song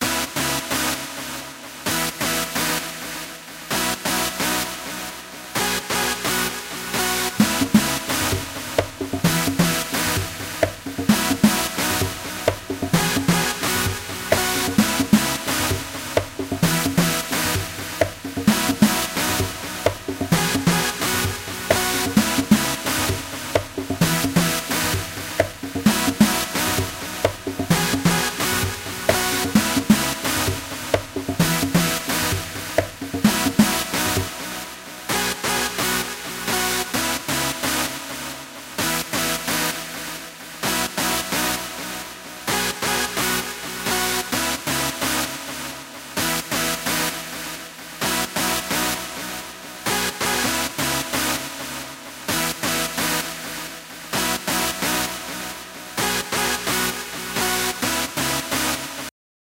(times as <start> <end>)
7.4 34.2